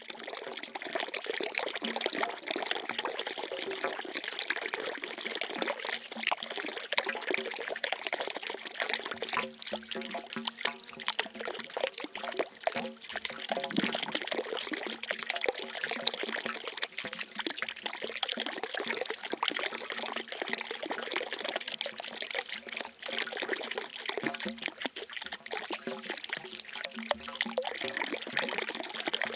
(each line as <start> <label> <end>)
0.0 Fast, Low Frequency Dropping Water 29.3